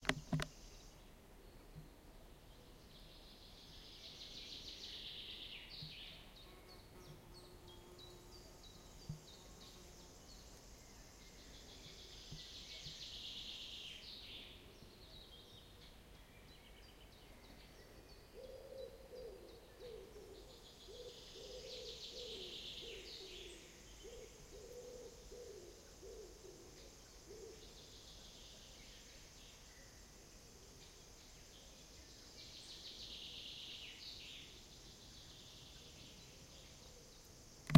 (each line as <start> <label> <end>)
0.0 forest birds 37.7
11.2 forest pigeon singing 30.0